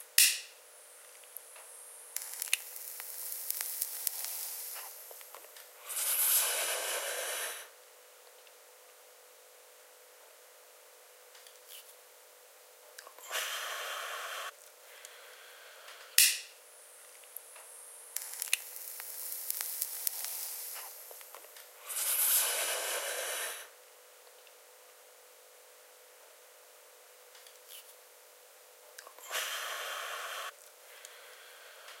lighter 0.2 - 0.5
Smoking herbs from glass pipe 1.0 - 7.7
lighter 1.1 - 7.7
exhale 5.8 - 7.8
Smoking herbs from glass pipe 13.2 - 14.5
exhale 13.2 - 16.2
lighter 13.2 - 16.5
Smoking herbs from glass pipe 17.0 - 23.7
lighter 17.2 - 23.7
exhale 21.8 - 23.8
exhale 29.2 - 32.0
Smoking herbs from glass pipe 29.2 - 32.0
lighter 29.2 - 32.0

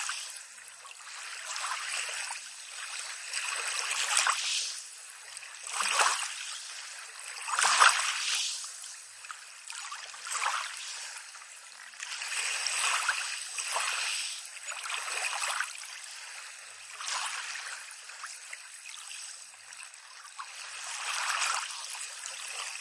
calm sea 0.0 - 22.8

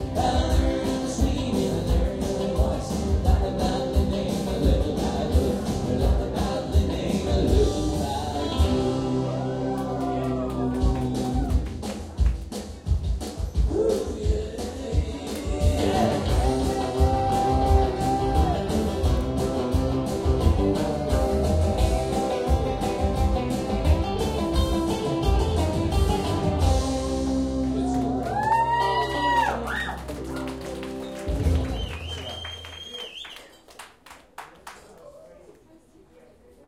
People drink and chatting 0.0 - 36.6
Applause 9.7 - 12.5
End of musical composition 15.4 - 28.2
Applause 27.6 - 35.2
End of musical composition 30.0 - 32.0

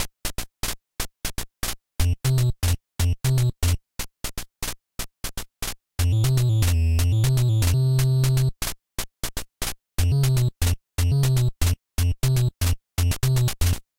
chiptune 0.0 - 13.8

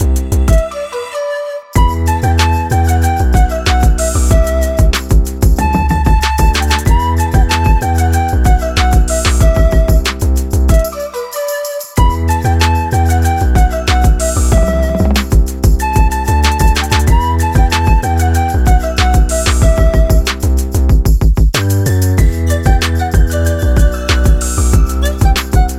808ish bass 0.0 - 0.7
pan flute 0.0 - 20.9
808ish bass 1.8 - 10.8
808ish bass 12.0 - 25.7
taiko rim 13.6 - 18.0
intro arp sound 14.3 - 15.4
pan flute 21.8 - 25.7

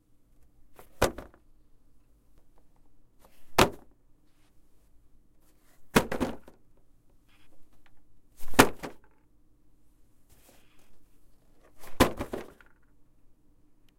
Dropping cardboard box 0.8 - 1.4
Dropping cardboard box 3.5 - 3.9
Dropping cardboard box 5.9 - 6.6
Dropping cardboard box 8.4 - 9.2
Dropping cardboard box 11.7 - 12.8

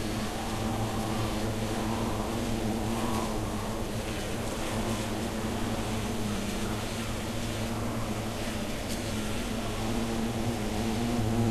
Bees slowed down 0.0 - 11.5

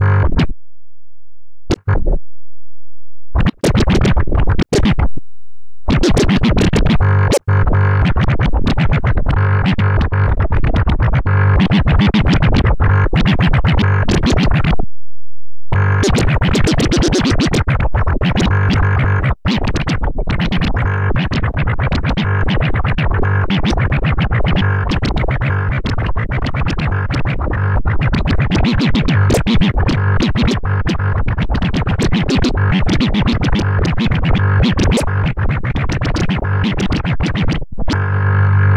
scratching 3.4 - 5.0
scratching 15.7 - 27.6
scratching 28.2 - 38.0

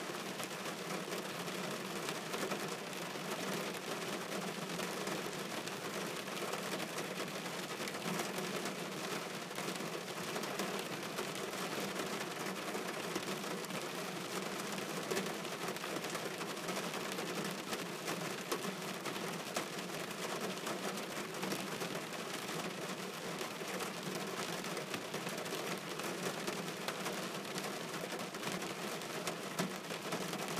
rain on a car roof 0.0 - 30.5

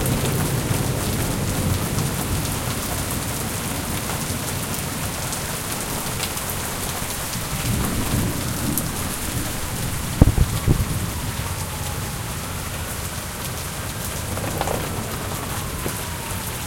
rain 0.0 - 16.6
thunder 5.5 - 12.3
thunder 13.9 - 16.6

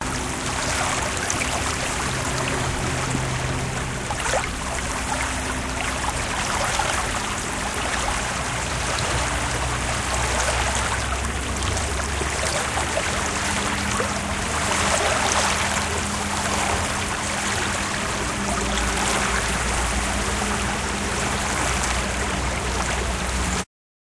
Waves gently breaking on lakeshore 0.0 - 23.6

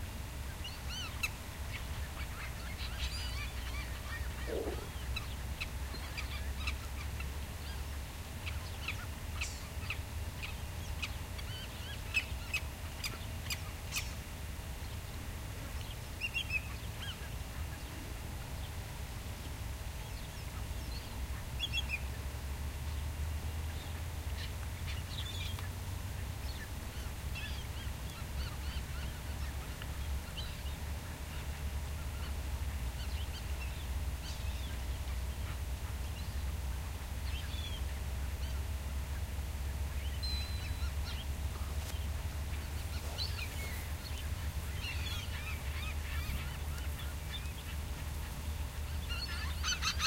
several species of birds calling 0.5 - 14.2
several species of birds calling 23.7 - 36.6
several species of birds calling 37.2 - 50.0

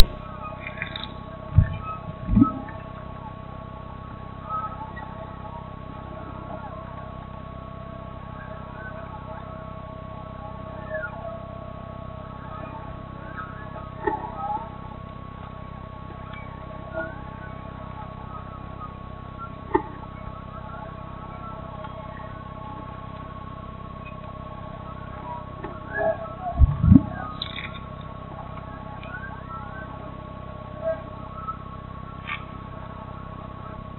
electronic algorithmic sonic objects 0.0 - 33.9

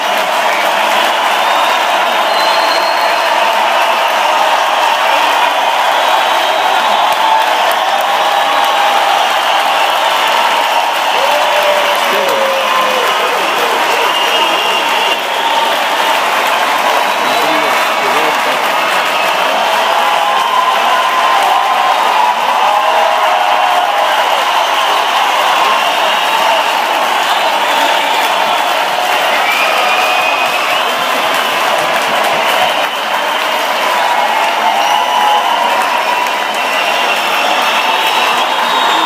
Applause encore 0.0 - 39.0
cheer 0.0 - 39.0

